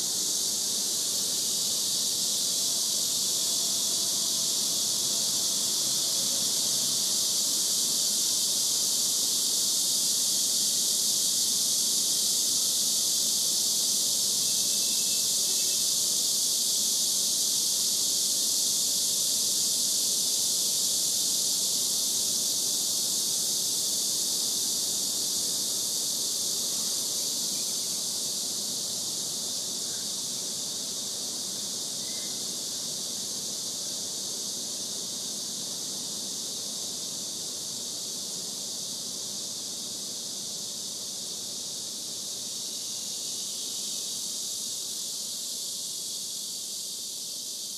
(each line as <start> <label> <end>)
0.0 deafening sound of Cicadas 47.7